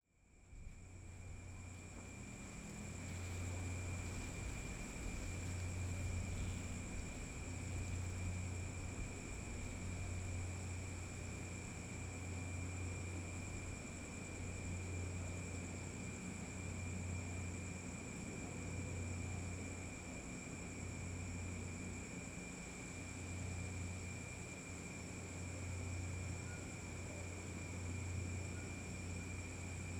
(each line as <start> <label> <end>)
0.1 light wind in the leaves and plants 29.9
0.1 crickets 29.9
0.3 other insects chirping 29.9